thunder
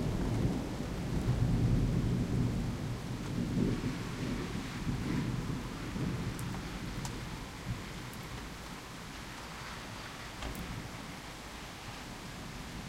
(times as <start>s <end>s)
0.0s 8.0s